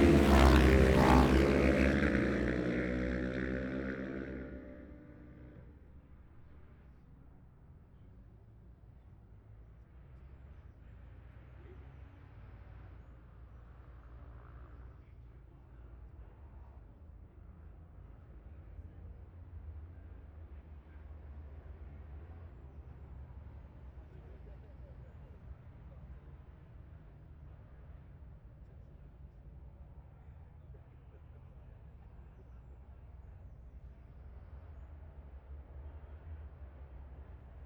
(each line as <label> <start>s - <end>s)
road racing 0.0s - 7.3s
road racing 18.0s - 37.6s